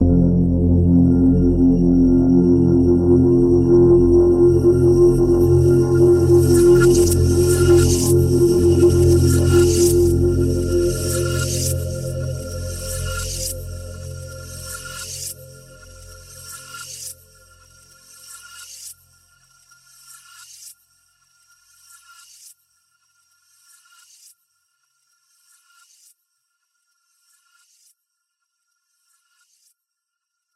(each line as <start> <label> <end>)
0.0 multi-sampled synth pad 18.0